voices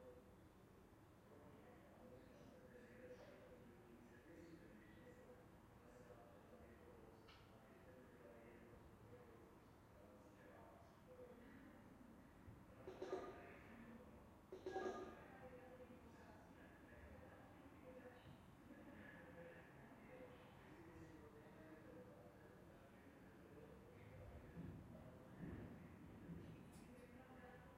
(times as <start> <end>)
12.8 24.5